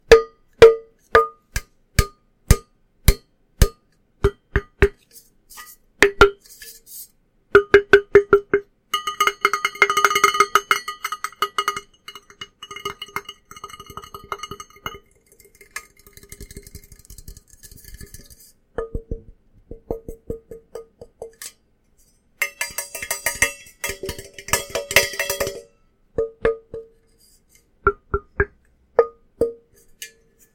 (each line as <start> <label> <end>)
22.4 metal coffee cup clangs 26.8